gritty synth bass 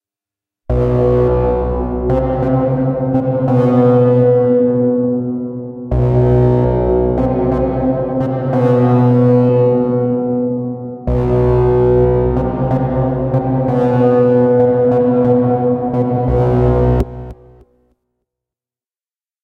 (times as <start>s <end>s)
0.7s 4.9s, 5.9s 10.4s, 11.1s 17.8s